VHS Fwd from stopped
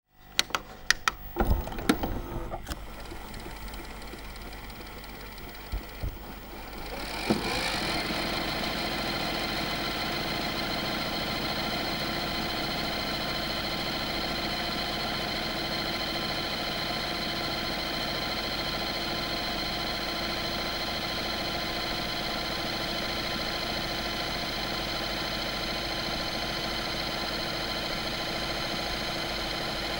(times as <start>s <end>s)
0.4s 13.3s